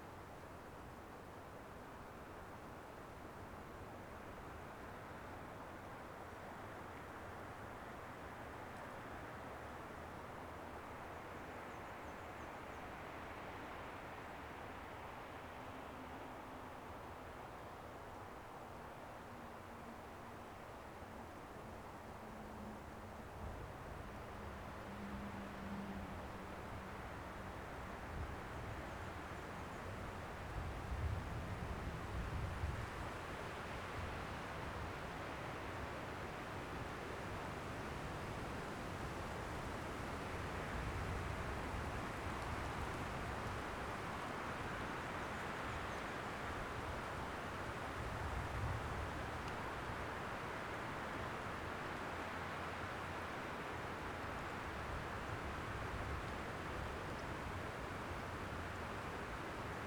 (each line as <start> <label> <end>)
7.6 wind in the trees 59.8